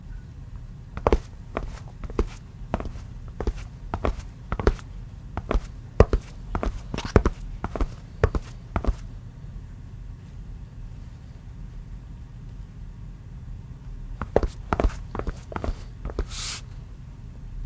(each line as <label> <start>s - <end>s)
walking footsteps tennis shoes tile floor 1.0s - 9.0s
walking footsteps tennis shoes tile floor 14.2s - 16.3s